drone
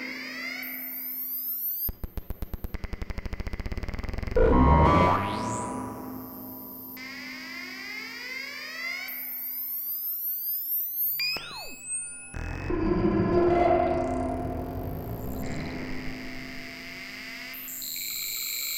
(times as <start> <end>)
4.2 7.0, 12.1 18.7